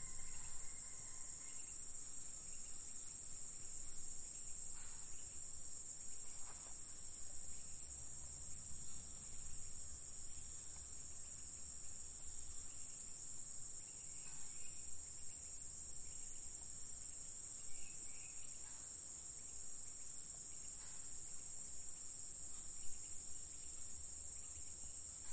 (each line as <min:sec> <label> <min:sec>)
0:00.0 insects 0:25.3